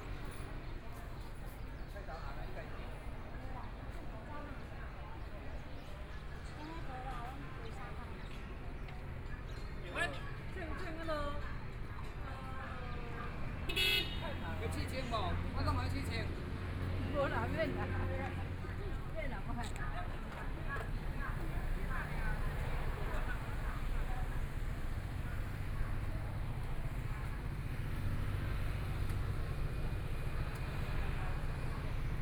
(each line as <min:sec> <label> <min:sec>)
0:00.0 Morning Market Bazaar 0:32.2
0:00.0 Walking the streets of the town 0:32.2